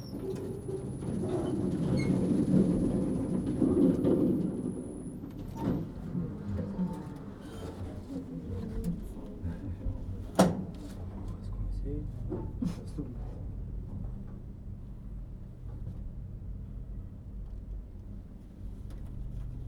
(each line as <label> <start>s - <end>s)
Descending in the lift from the park to the street 0.0s - 8.1s
long queue of people waiting to use the lift 0.0s - 19.6s